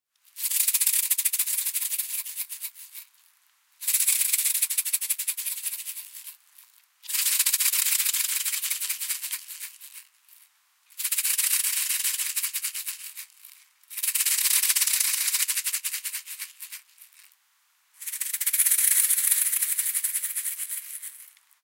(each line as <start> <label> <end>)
7.1 Simple shaker ending 17.4
18.0 Simple shaker ending 21.4